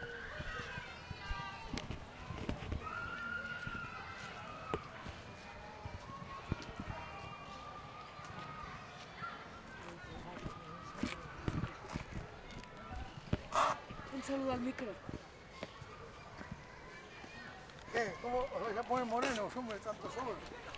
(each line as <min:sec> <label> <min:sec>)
0:00.0 Humans 0:20.7